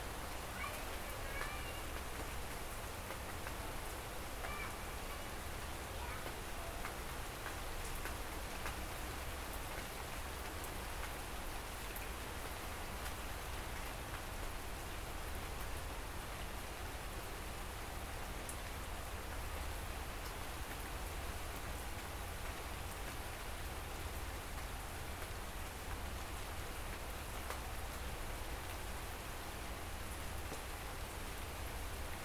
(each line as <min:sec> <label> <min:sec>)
0:00.0 ambience of the city 0:32.2
0:00.0 rain shower 0:32.2